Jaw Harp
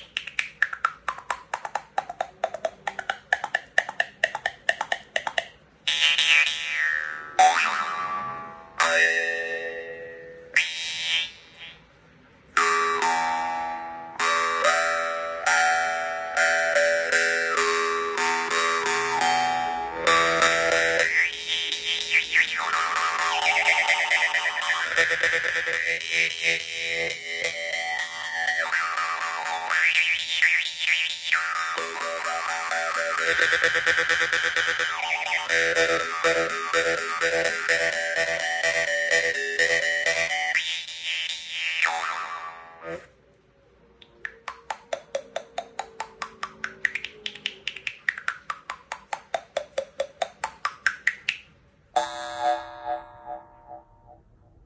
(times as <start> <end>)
0.0 11.9, 12.6 43.1